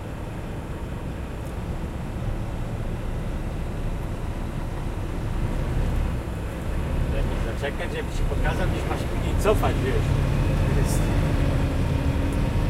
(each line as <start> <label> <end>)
0.0 forklift 12.6
0.0 truck engine 12.6
6.8 Truck driver and navigation voices 11.9